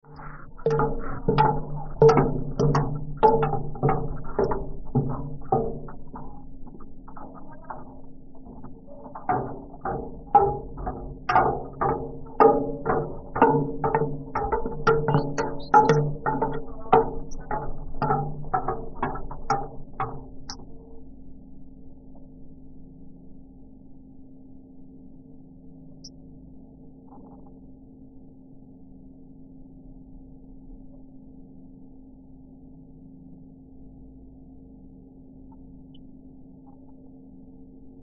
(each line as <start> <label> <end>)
0.1 footsteps going down stairs 20.7